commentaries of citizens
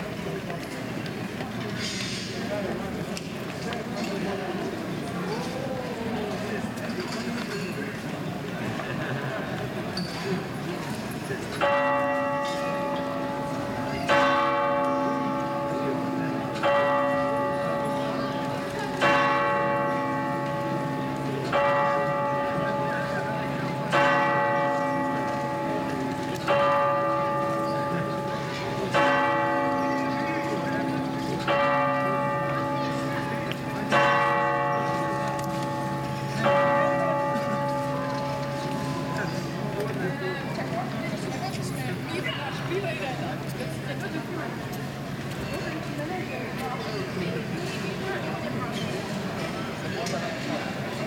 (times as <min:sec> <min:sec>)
0:38.8 0:51.0